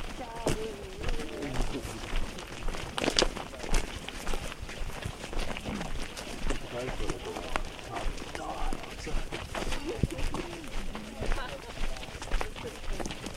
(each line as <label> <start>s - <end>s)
talking 0.0s - 2.5s
Group of 5 walking 0.0s - 13.3s
gravel 0.0s - 13.3s
talking 6.6s - 13.3s